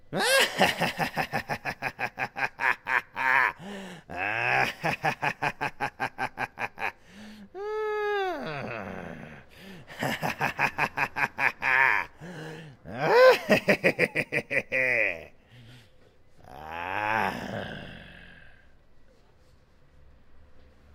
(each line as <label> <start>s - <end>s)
evil laughter 0.1s - 7.1s
evil laughter 8.4s - 15.7s
evil laughter 16.4s - 18.4s